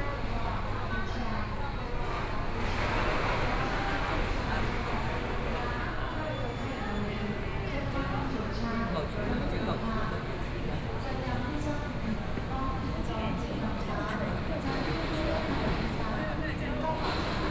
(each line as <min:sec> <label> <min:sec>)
0:00.0 Construction site noise 0:17.5